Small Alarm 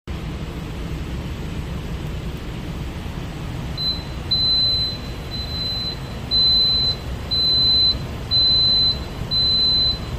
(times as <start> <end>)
3.8 10.1